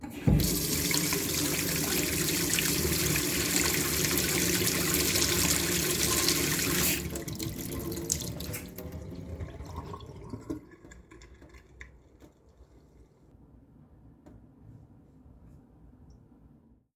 sink turn on, run, off and drain 0.0 - 12.8

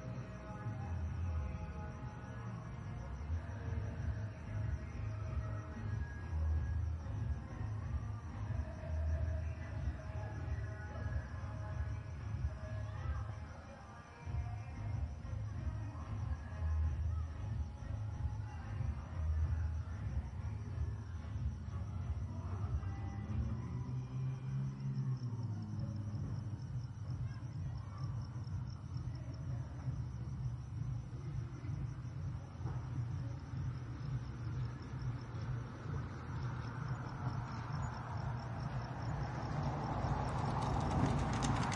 Music 0.0 - 41.7
cars 33.8 - 41.7

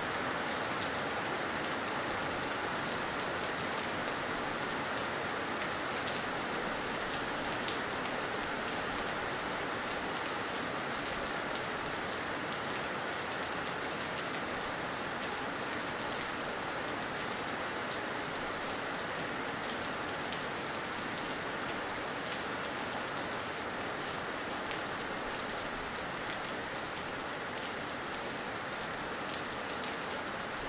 Heavy tropical rain pouring on a house garden 0.0 - 30.6

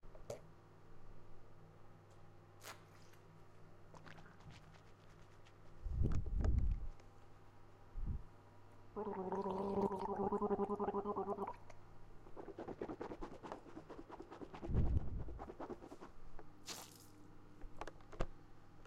gurgling mouthwash 9.0 - 11.7

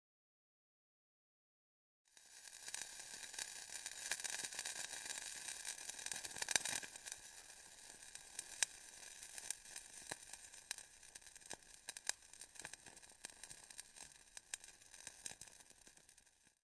hissing burning lighter in the water 2.1 - 16.6

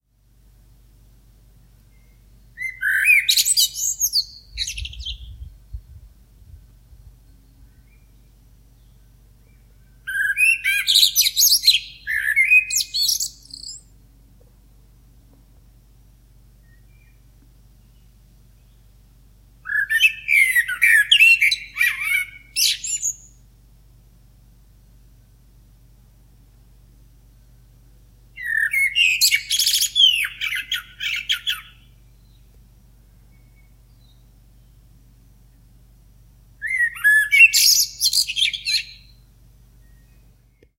blackbird 1.9 - 5.6
blackbird 7.3 - 13.9
blackbird 19.6 - 23.4
blackbird 28.4 - 32.6
blackbird 36.6 - 39.2

